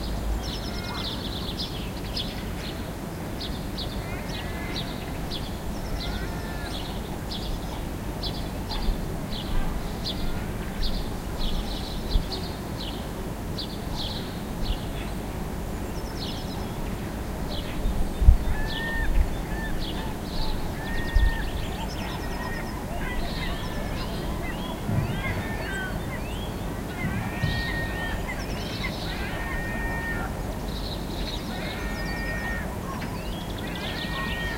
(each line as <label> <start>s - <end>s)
birds 0.0s - 34.5s
voices 3.9s - 12.5s
voices 14.8s - 34.5s